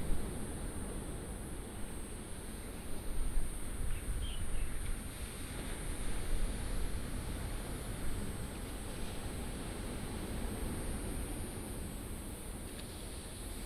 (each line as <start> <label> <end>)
4.8 waves 13.6